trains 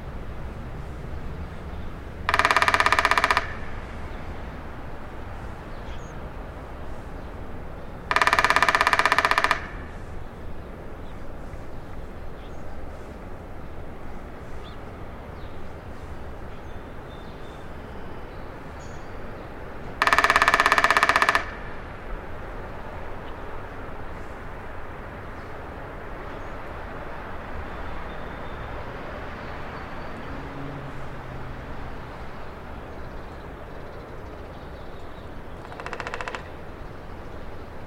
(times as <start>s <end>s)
3.6s 8.1s, 9.8s 20.0s, 21.7s 35.7s